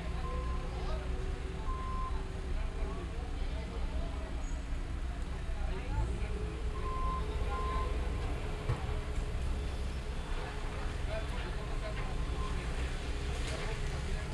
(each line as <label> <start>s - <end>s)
bulldozers 0.0s - 14.3s
Workers 4.2s - 14.3s